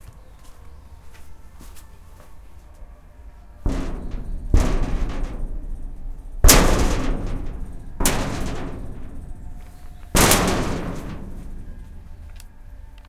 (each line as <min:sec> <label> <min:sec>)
0:03.6 Metal Sheet Hit 0:12.4